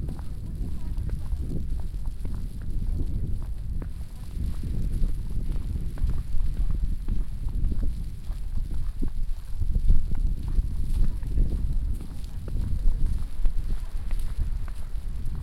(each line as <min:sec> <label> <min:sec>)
0:00.0 walking through falling snow 0:15.4